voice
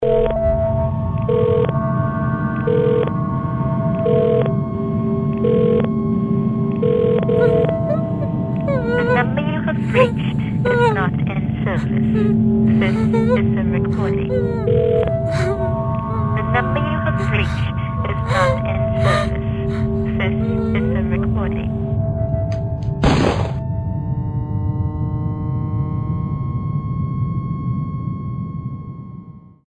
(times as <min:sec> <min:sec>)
0:08.7 0:14.7, 0:15.4 0:21.7